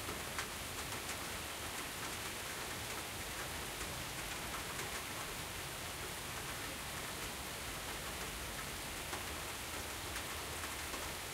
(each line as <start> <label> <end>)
0.0 light rain 11.3
0.0 low background noise of cars 11.3